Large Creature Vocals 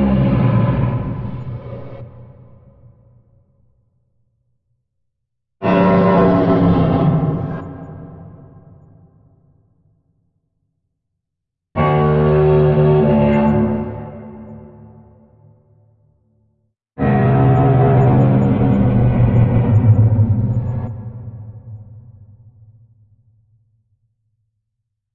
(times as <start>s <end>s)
0.0s 2.0s